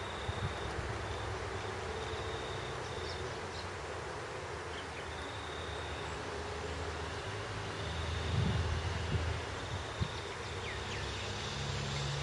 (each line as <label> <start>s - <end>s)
crickets 0.0s - 3.6s
birds 0.0s - 3.8s
distant traffic 0.0s - 12.2s
crickets 4.5s - 12.2s
birds 4.6s - 6.4s
wind noise 8.2s - 10.3s
birds 9.6s - 12.2s